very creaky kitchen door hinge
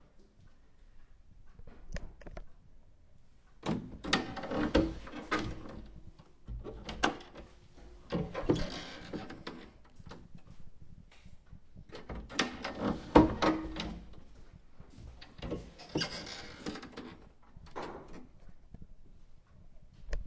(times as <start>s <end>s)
8.1s 9.8s, 15.2s 18.3s